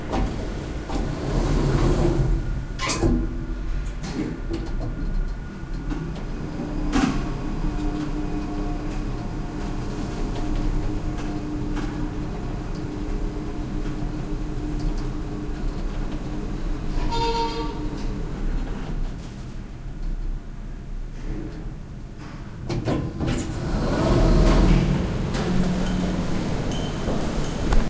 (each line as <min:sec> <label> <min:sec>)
0:00.0 Driving up with the elevator 0:27.8